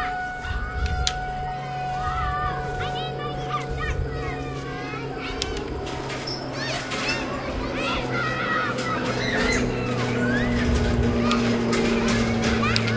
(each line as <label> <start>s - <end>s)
Kids playing 0.0s - 12.9s
Kids scream 0.0s - 12.9s
big empty-sounding truck or school bus goes by 0.0s - 12.9s
footsteps 0.0s - 12.9s
mic jostles 0.0s - 12.9s
tornado siren test 0.0s - 12.9s
traffic along brick streets 0.0s - 12.9s
kid yells tornado 1.9s - 5.5s